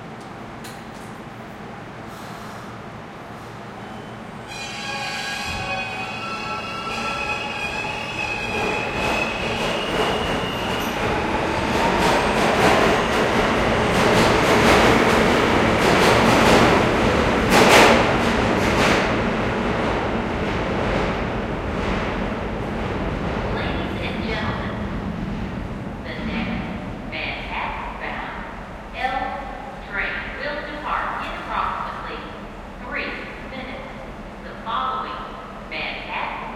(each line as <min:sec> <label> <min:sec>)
0:00.0 l train 0:36.5